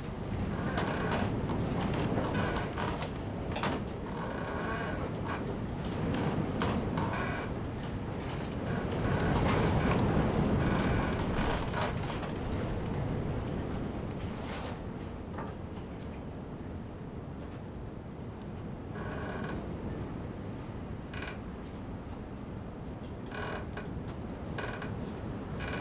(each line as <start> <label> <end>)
0.0 Wind in einem Holzschopf 18.9